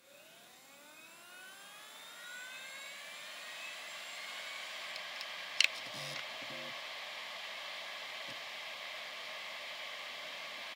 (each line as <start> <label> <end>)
0.2 two harddrives spinning up 6.8